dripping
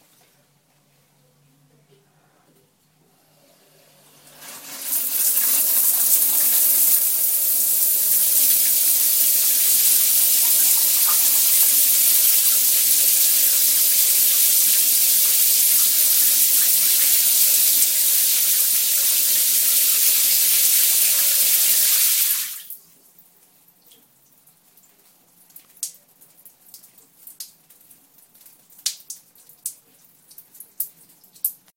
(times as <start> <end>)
3.8 22.7